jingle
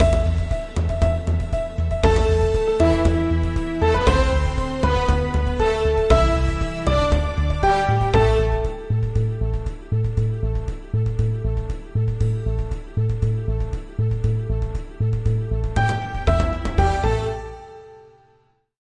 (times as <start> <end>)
0.0 9.0